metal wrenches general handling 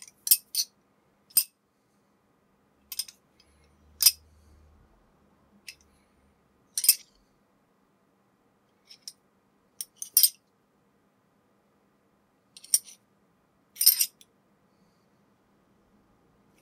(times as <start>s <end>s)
2.9s 3.2s, 6.8s 7.1s, 12.6s 13.0s, 13.8s 14.2s